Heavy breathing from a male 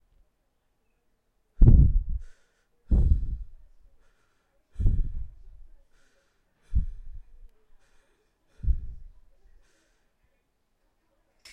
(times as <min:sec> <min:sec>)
0:01.6 0:10.2